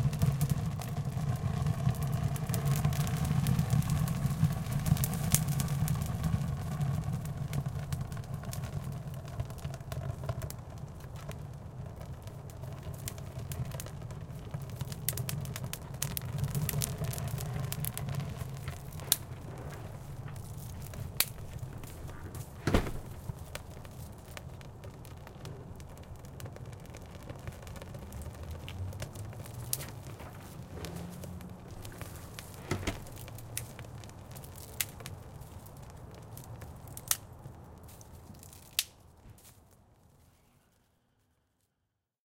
Burning dry pine needles in a ceramic chiminea 0.0 - 41.9
highway noise 17.3 - 37.8
Door opens and closes 19.0 - 23.3
Door opens and closes 30.1 - 33.4

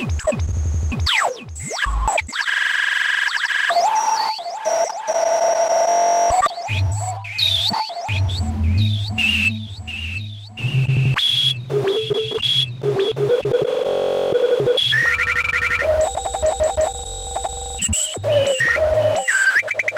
glitchy pad 11.7 - 19.2

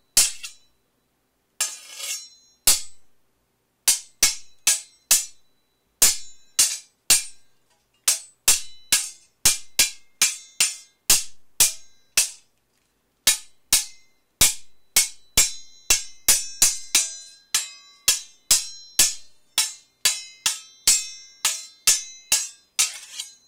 swords hitting each other 0.2 - 0.7
swords hitting each other 3.9 - 5.4
swords hitting each other 6.0 - 7.4
swords hitting each other 8.1 - 12.4
swords hitting each other 13.3 - 23.4

